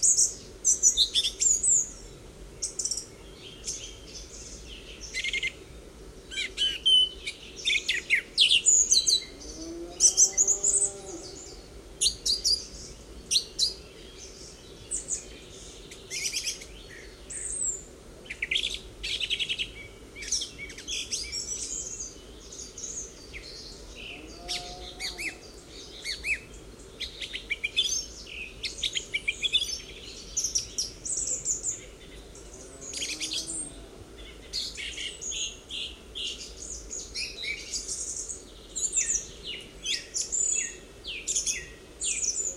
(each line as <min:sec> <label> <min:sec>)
0:00.0 songs of songthrushes 0:42.5
0:09.4 moowing cows 0:11.5
0:24.1 moowing cows 0:25.4
0:32.5 moowing cows 0:34.1